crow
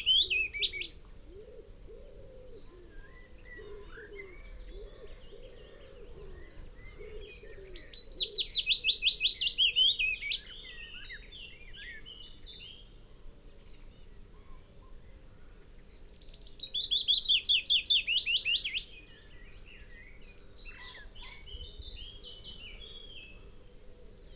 20.7s 21.5s

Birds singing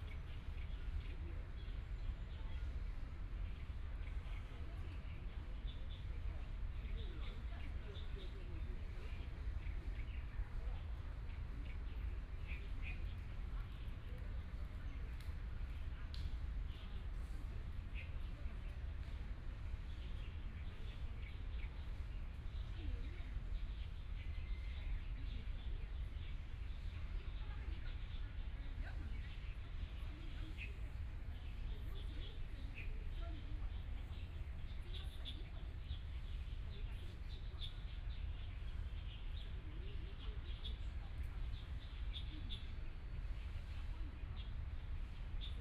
23.5s 43.4s

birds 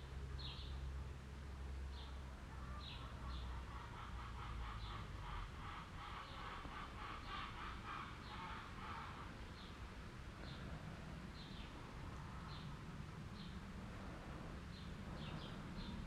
1.9s 9.8s, 14.7s 16.0s

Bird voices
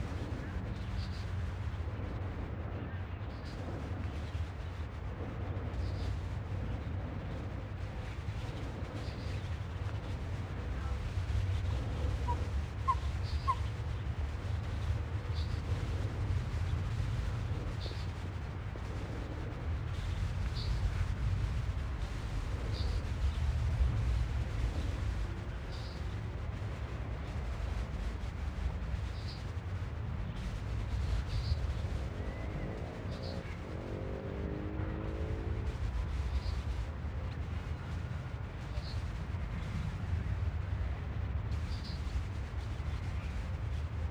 5.6s 26.2s

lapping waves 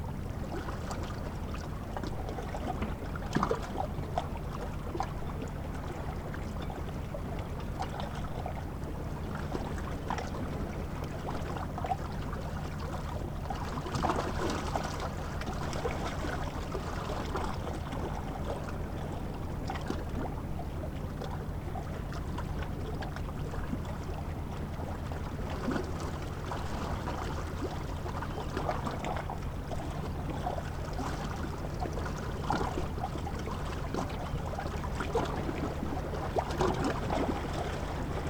23.1s 38.2s

